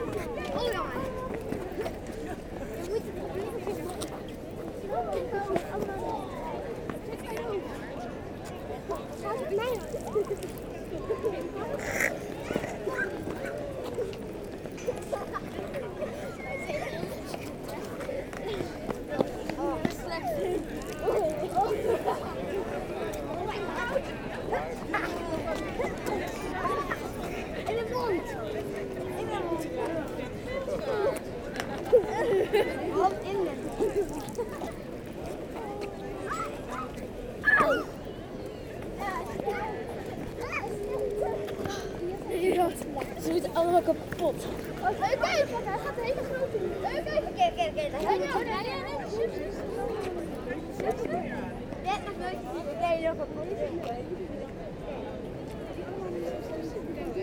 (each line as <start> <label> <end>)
9.1 Children playing with bubbles 22.8
30.7 Children playing with bubbles 38.0